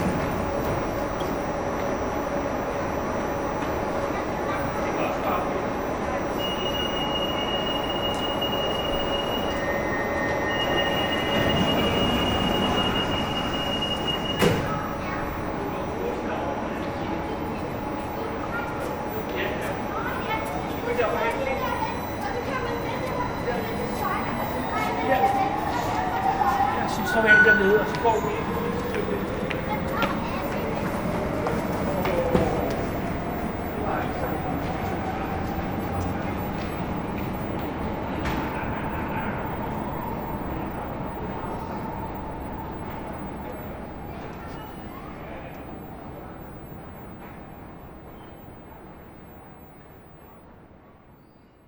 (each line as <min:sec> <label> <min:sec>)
0:00.0 metro 0:51.6